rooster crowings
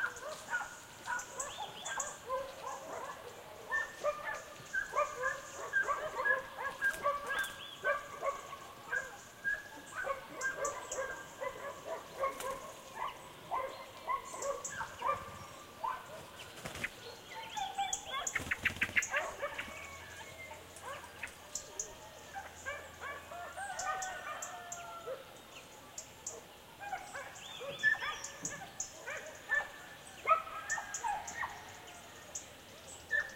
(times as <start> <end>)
23.3 25.1